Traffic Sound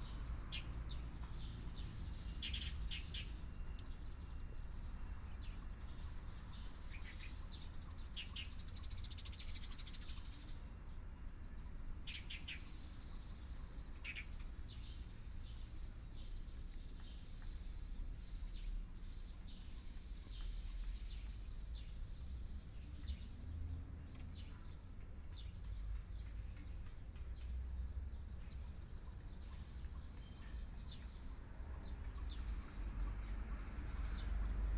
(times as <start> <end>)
20.4 34.7